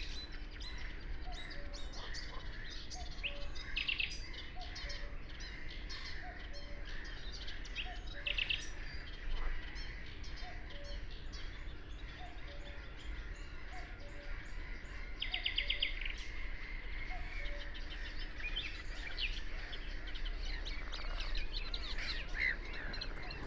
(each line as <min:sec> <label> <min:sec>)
0:00.0 Great reed warbler 0:23.4
0:00.0 call of a Red-necked grebe 0:23.4
0:00.7 frogs 0:23.4